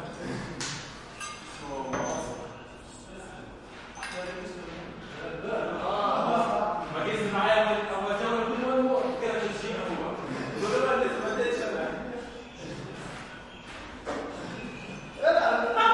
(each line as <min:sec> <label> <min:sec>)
0:05.0 guys working out arabic voices 0:15.9